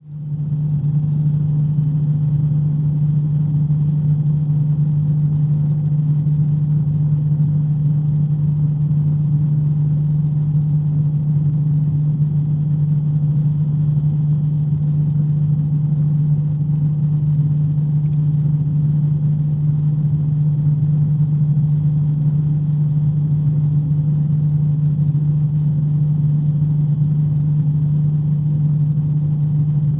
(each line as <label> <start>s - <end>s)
air conditioning unit 0.0s - 29.9s